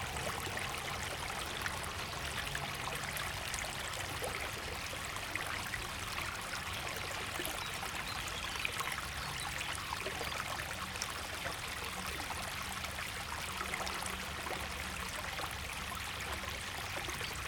river 0:00.0 - 0:17.4

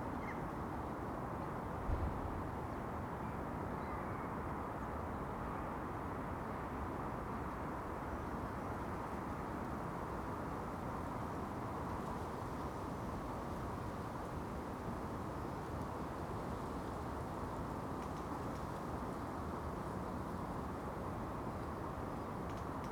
wind 0:00.0 - 0:22.9

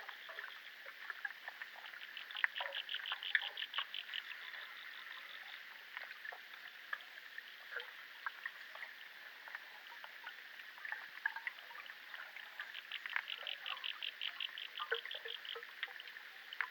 underwater sounds in the lake 0:00.0 - 0:16.7

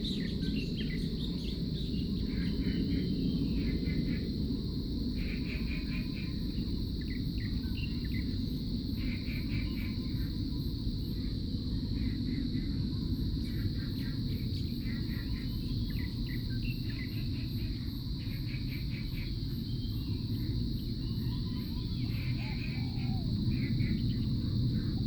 Frogs sound 0:00.0 - 0:11.2
Cicadas cry 0:00.0 - 0:25.0
Frogs sound 0:13.1 - 0:25.0
Bird calls 0:21.0 - 0:25.0

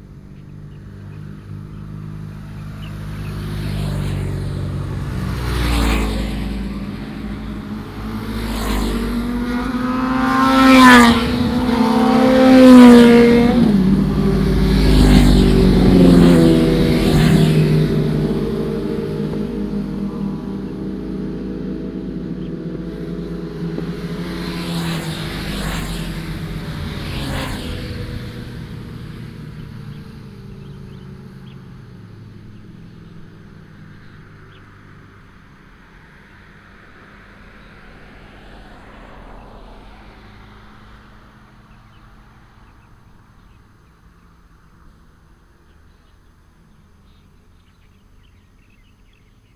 birds 0:00.0 - 0:49.5
heavy locomotives 0:04.1 - 0:31.8

